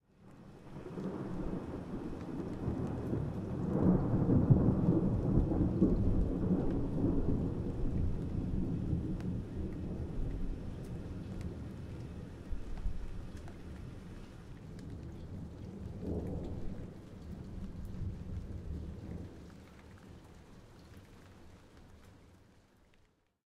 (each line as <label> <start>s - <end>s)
medium distance thunderclap 0.8s - 11.7s
medium distance thunderclap 15.4s - 19.3s